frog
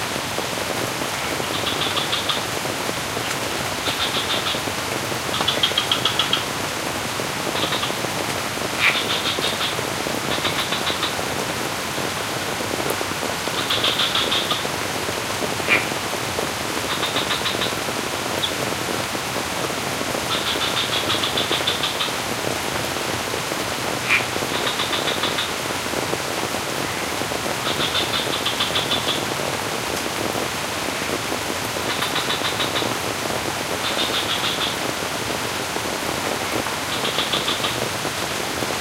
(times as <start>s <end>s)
1.2s 2.5s, 3.8s 4.6s, 5.3s 6.5s, 7.6s 8.0s, 8.8s 11.2s, 13.5s 14.6s, 15.6s 15.9s, 16.9s 17.8s, 20.3s 22.2s, 24.0s 25.6s, 26.8s 29.3s, 31.9s 33.0s, 33.8s 35.0s, 36.4s 37.9s